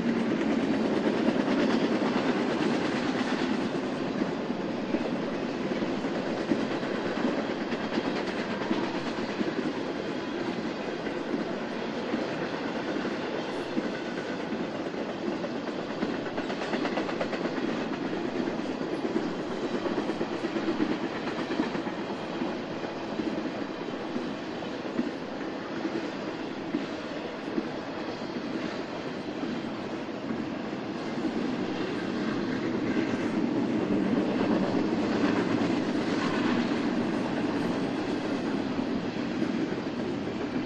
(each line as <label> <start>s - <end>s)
Freight Train Passing By 0.0s - 40.6s
three diesel electric locomotives in the front 0.0s - 40.6s